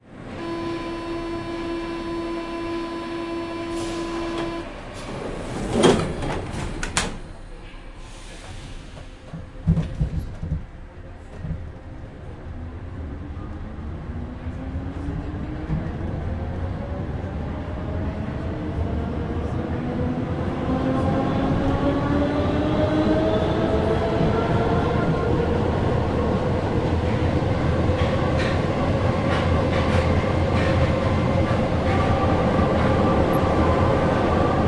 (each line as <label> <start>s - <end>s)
train starts and continues to next station and stops 0.0s - 34.6s
footsteps of people boarding 8.5s - 11.8s